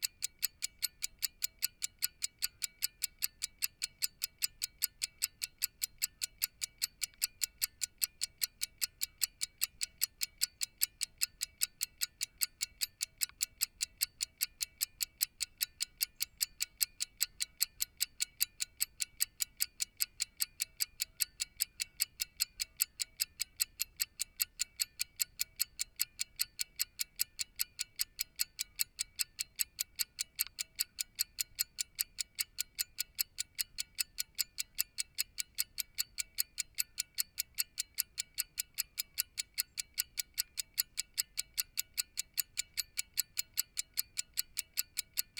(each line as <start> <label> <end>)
0.0 pocket watch ticking 45.3